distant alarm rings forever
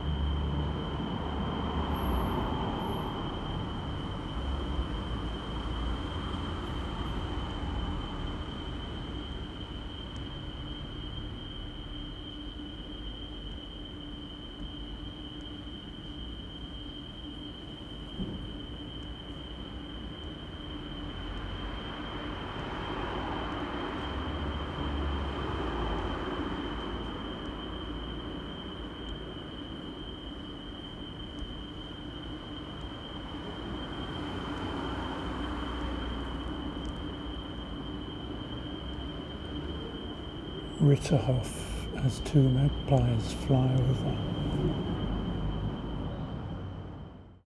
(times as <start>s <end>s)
40.4s 45.2s